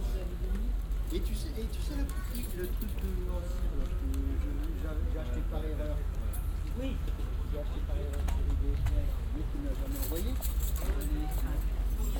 flea market 0:00.0 - 0:12.1

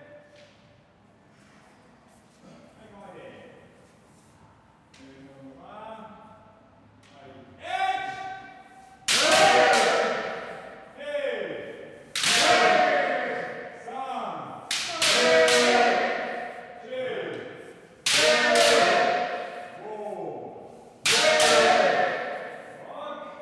Kendo practice 0:09.0 - 0:11.0
Kendo practice 0:12.1 - 0:13.8
Kendo practice 0:14.6 - 0:16.8
Kendo practice 0:18.0 - 0:20.0
Kendo practice 0:21.0 - 0:22.8

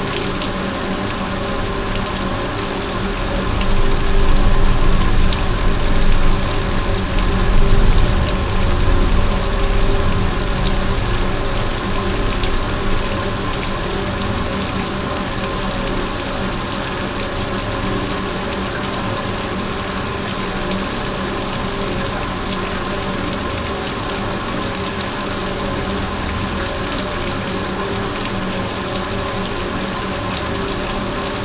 small dam 0:00.0 - 0:31.4

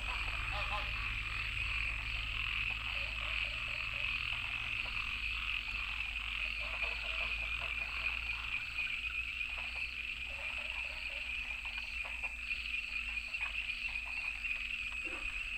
Goose calls 0:00.0 - 0:12.4
Various frogs chirping 0:00.0 - 0:15.5

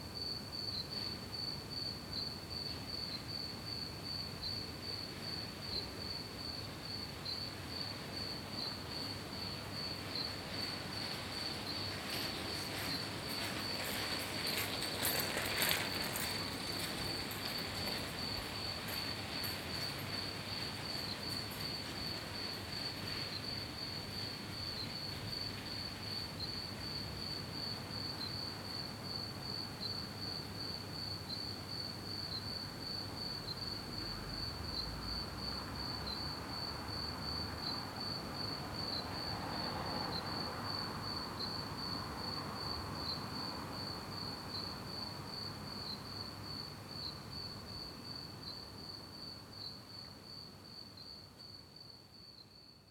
cicades coming from one balcony 0:00.0 - 0:52.9
bicycle 0:11.1 - 0:22.0

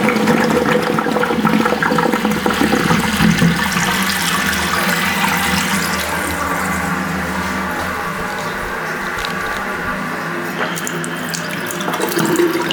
Toilet flush 0:00.0 - 0:12.7

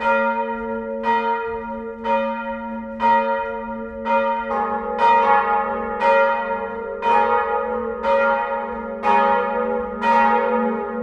bells 0:00.0 - 0:11.0

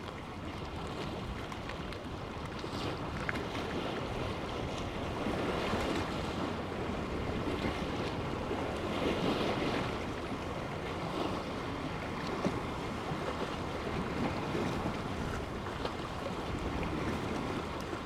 Waves 0:00.0 - 0:18.0

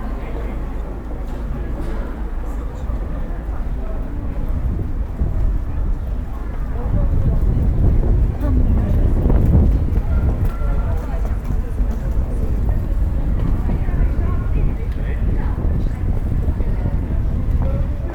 people on the street talking in different languages 0:00.0 - 0:18.1

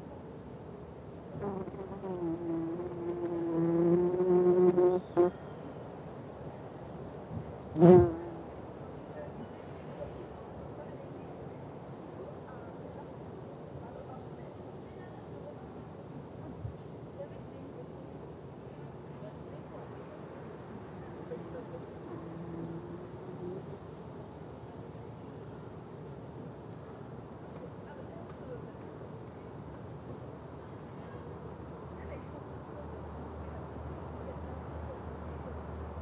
Mining bees going in and out of their burrow 0:01.4 - 0:05.3
Mining bees going in and out of their burrow 0:07.7 - 0:08.4
Mining bees going in and out of their burrow 0:21.0 - 0:23.8

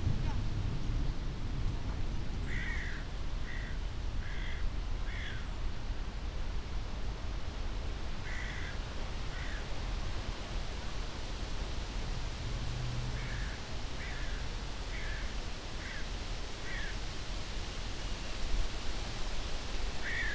distant thunder 0:00.0 - 0:02.8
moderate wind 0:00.0 - 0:20.3
rain 0:00.0 - 0:20.3

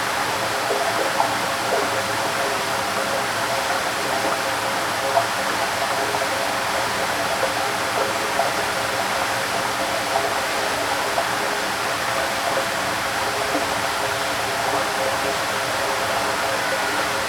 gurgling gush of water in a big, iron pipe 0:00.0 - 0:17.2

